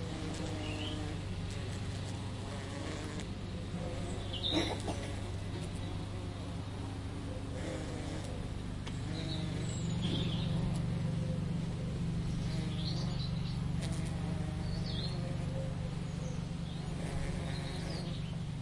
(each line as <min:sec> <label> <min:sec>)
0:00.0 birds 0:18.6
0:00.0 bumble bees on the lavender bush 0:18.6